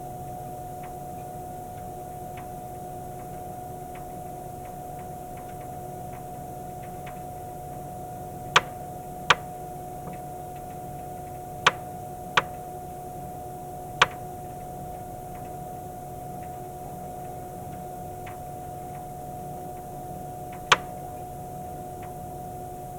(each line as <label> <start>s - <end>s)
Rotation tones inside the wind generator 0.0s - 22.9s